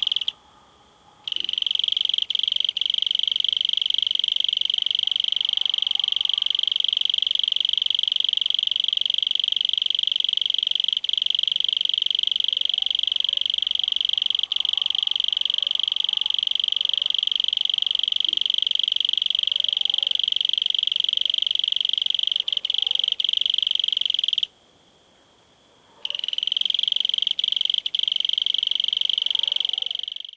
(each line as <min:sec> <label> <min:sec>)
0:00.0 dogs barking in the distance 0:01.6
0:00.0 Strong cricket call in foreground 0:30.3
0:04.7 dogs barking in the distance 0:06.8
0:12.6 dogs barking in the distance 0:18.4
0:19.4 dogs barking in the distance 0:20.3
0:22.4 dogs barking in the distance 0:23.2
0:25.7 dogs barking in the distance 0:26.4
0:29.2 dogs barking in the distance 0:30.2